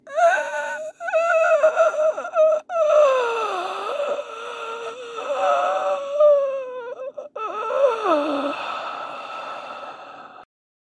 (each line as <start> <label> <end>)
0.1 person dying 10.4